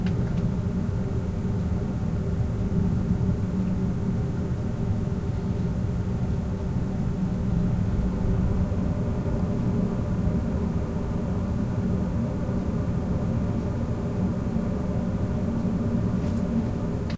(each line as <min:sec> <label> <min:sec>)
0:00.0 air vent 0:17.1